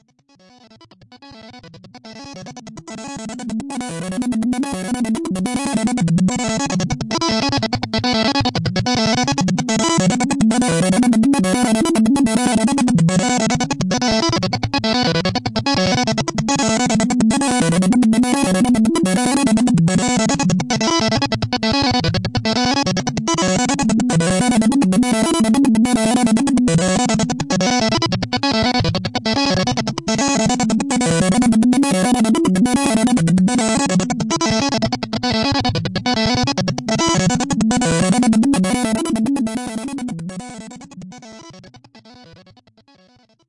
Choppy musical sequence of a couple VCOs 0:00.6 - 0:42.8

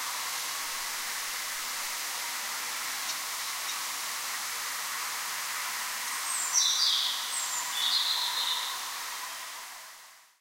night bird singing 0:06.2 - 0:08.8

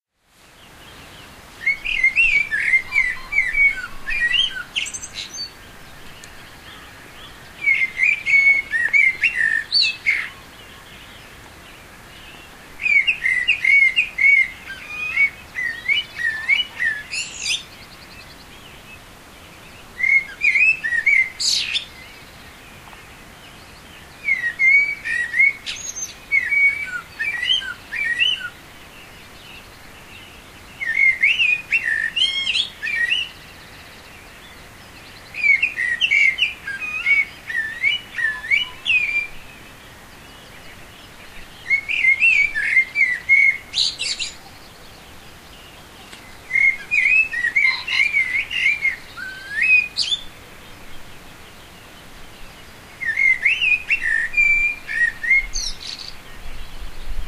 stream running faintly in the background 0:00.2 - 0:57.2
pheasant call 0:01.6 - 0:11.3
pheasant call 0:12.2 - 0:18.8
pheasant call 0:24.1 - 0:28.6
pheasant call 0:30.8 - 0:56.9

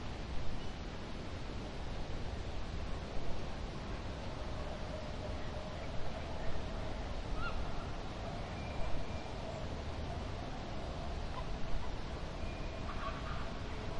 birds 0:04.4 - 0:13.9

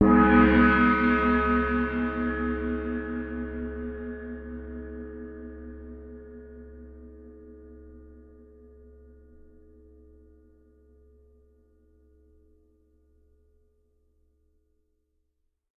Crash Gong 0:00.0 - 0:05.0

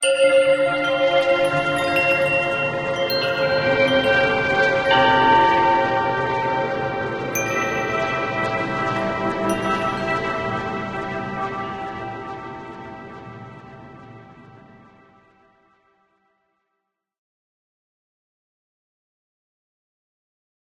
cymbal sounds 0:00.0 - 0:13.1
Bells 0:00.0 - 0:14.5
synths 0:00.1 - 0:15.3

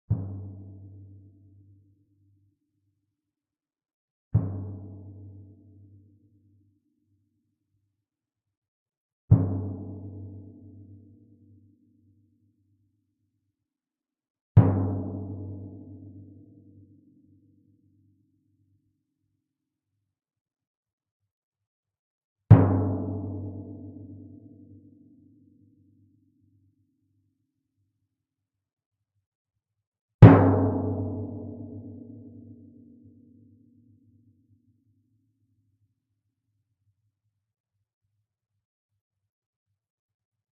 timpano 0:30.2 - 0:32.5

